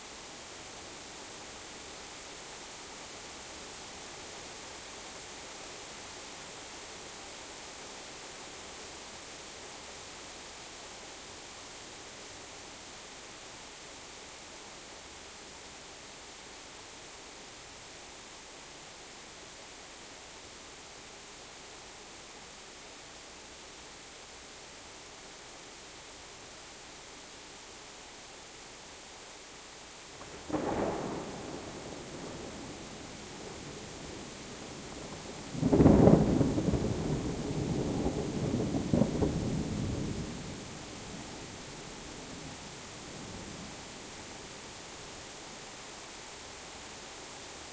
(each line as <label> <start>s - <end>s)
Rain 0.0s - 47.7s
close, loud thunderclap 30.2s - 40.7s